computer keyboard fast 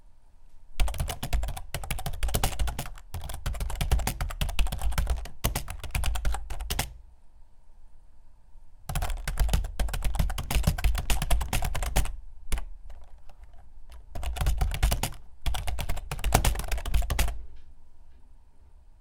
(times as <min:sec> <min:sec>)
0:00.8 0:07.0, 0:08.9 0:17.5